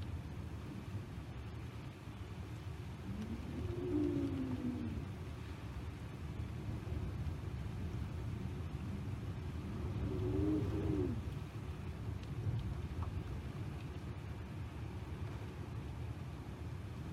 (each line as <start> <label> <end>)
0.0 rain 17.1
0.0 wind is gusty and is whistling through the gaps 17.1